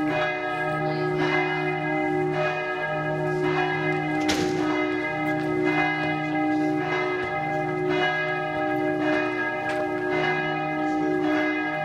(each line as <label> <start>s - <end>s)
Distant churchbells are ringing 0.0s - 11.8s
People are passing by 0.0s - 11.8s
church bell close by starts to ring 0.0s - 11.8s